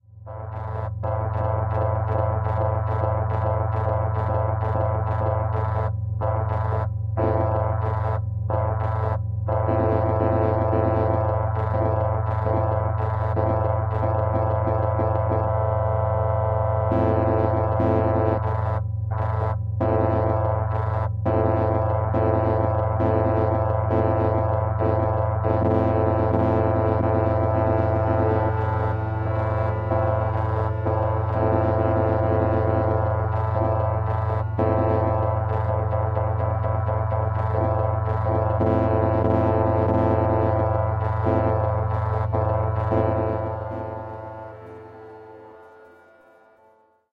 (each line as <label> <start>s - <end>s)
long chord from a Nord Modular synthesizer 0.3s - 47.1s
glitch 23.5s - 46.8s